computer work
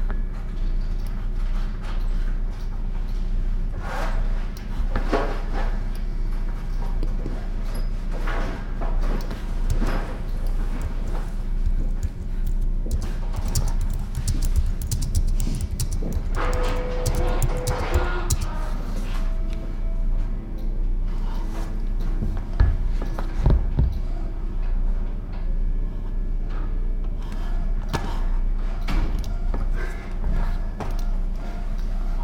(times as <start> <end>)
8.9 19.1